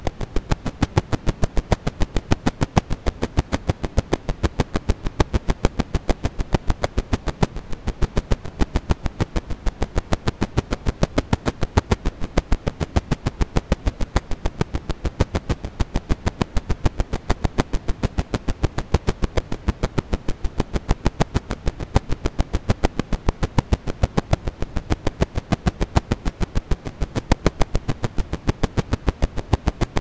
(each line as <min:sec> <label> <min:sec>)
0:00.0 record crackle (high wear) 0:30.0